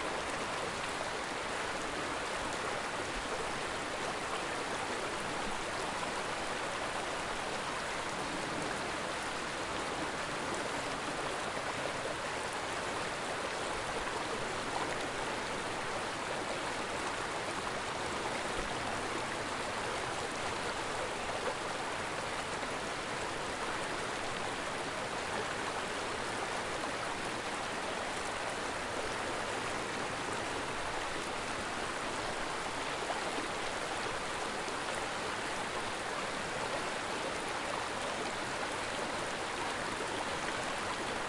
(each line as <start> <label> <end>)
0.0 water is moving a little faster over the rocks 41.2